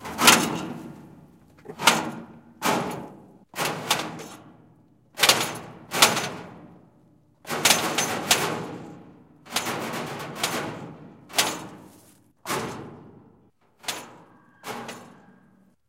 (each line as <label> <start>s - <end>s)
Hitting a tractor from inside 0.0s - 4.4s